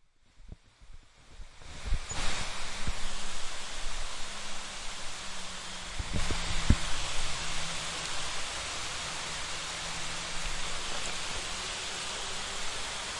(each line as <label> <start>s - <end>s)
wider pouring rain 0.2s - 13.1s
droplets hitting leaves 1.6s - 13.1s